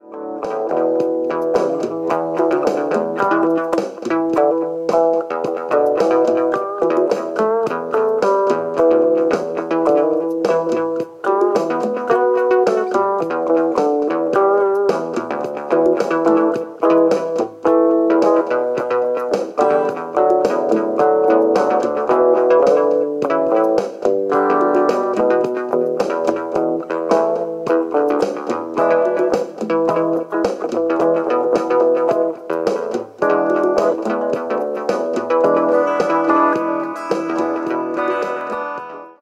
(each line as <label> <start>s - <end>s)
guitar 0.0s - 39.2s